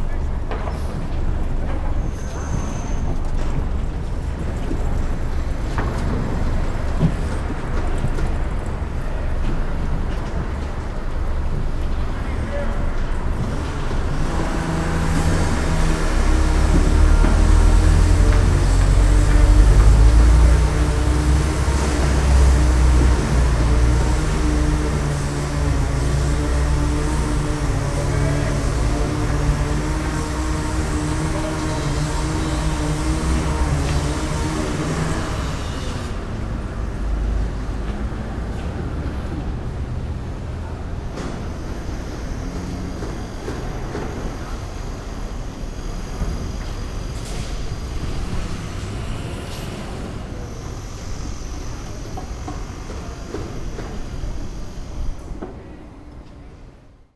busy street 0:00.0 - 0:57.1
house construction 0:00.0 - 0:57.1
workers talking via walkie talkie 0:16.6 - 0:35.4

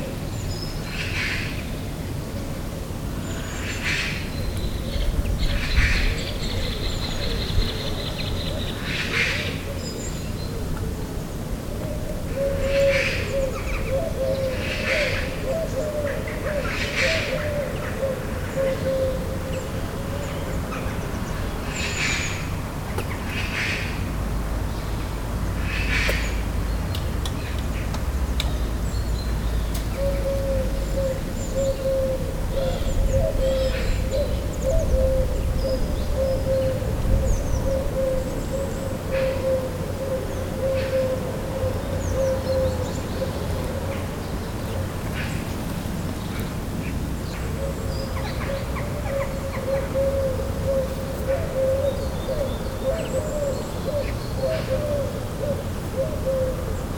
Magpies 0:12.4 - 0:24.1

